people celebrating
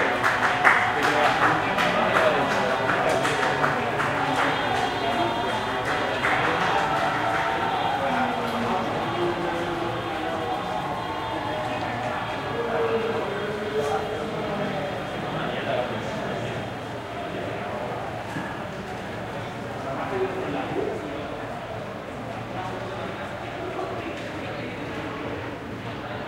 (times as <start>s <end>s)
0.0s 18.2s